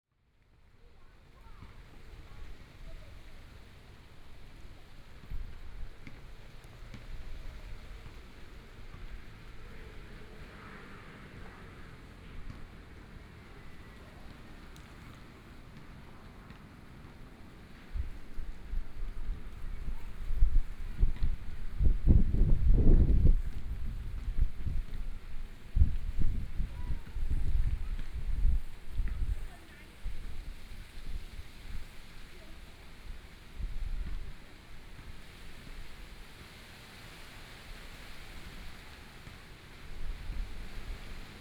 wind moving the leaves 1.1 - 41.4
Traffic Sound 6.6 - 18.6

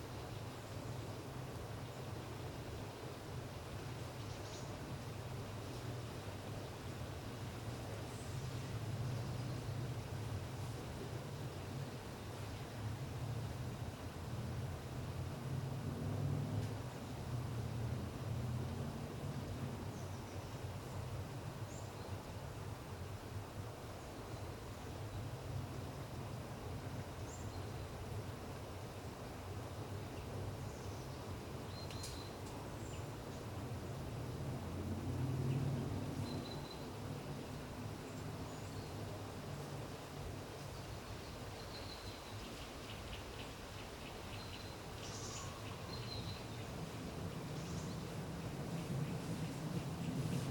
Distant traffic 1.1 - 50.5
bird singing a few songs 30.6 - 33.1
bird singing a few songs 40.7 - 46.8

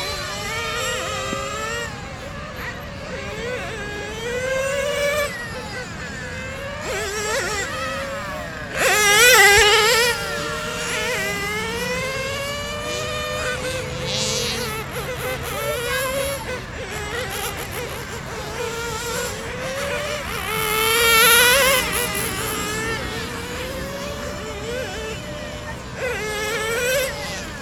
Remote control car 0.0 - 27.6

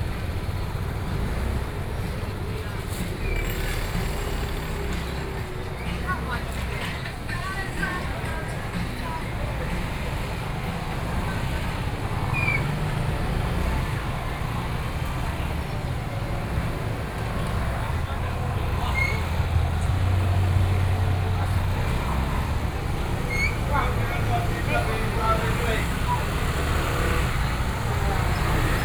Traffic Sound 0.0 - 28.8
walking in the traditional market 0.0 - 28.8

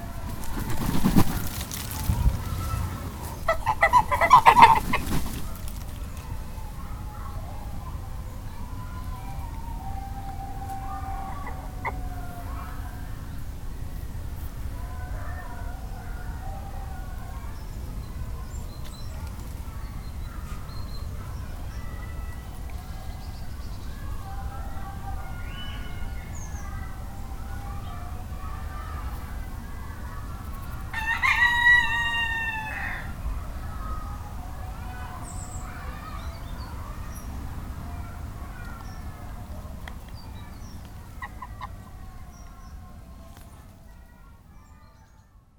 two geese coming to see what's happening 0.0 - 8.2
rooster is shouting 2.4 - 5.0
two geese coming to see what's happening 8.8 - 13.2
rooster is shouting 10.2 - 12.6
rooster is shouting 30.9 - 33.2
two geese coming to see what's happening 40.4 - 43.3

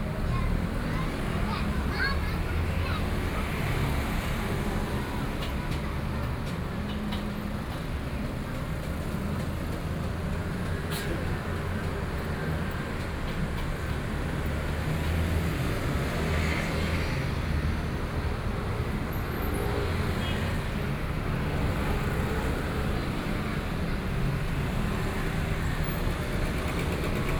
Roadside vendors selling chicken dishes 0.0 - 27.3
Traffic Noise 0.0 - 27.3

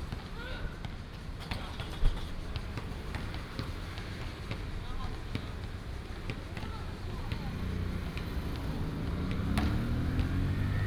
Traffic sound 2.2 - 10.8

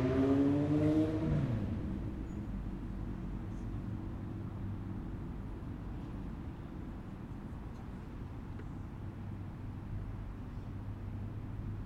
cars 0.0 - 11.8

